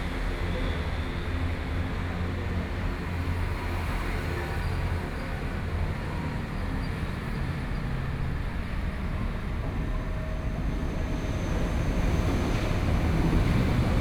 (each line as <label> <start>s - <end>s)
Train traveling through 0.0s - 14.0s